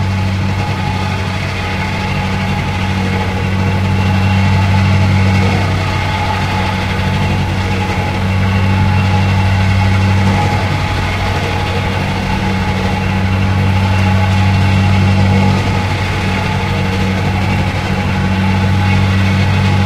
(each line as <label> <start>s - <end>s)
Vibrating compactors 0.0s - 19.8s